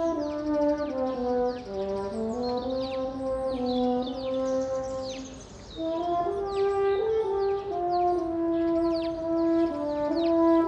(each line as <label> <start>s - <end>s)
Horn concert 0.0s - 10.6s